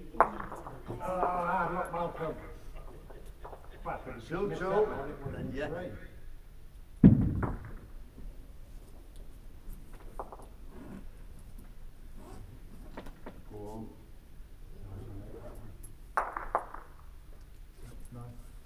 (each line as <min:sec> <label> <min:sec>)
0:00.0 voices 0:06.2